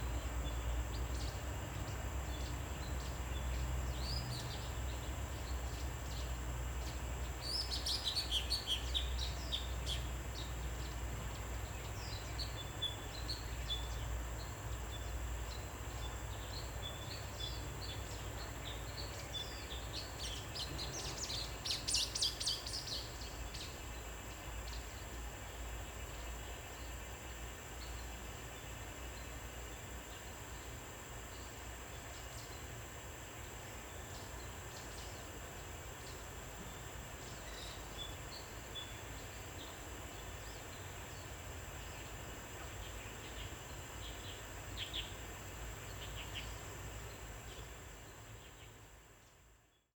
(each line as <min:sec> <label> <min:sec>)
0:00.0 Cicadas cry 0:49.8